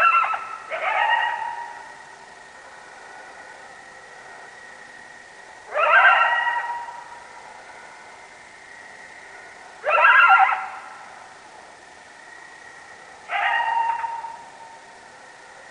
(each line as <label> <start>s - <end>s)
Coyotes howling 0.0s - 5.0s
Coyotes howling 5.6s - 11.4s
Coyotes howling 12.4s - 15.7s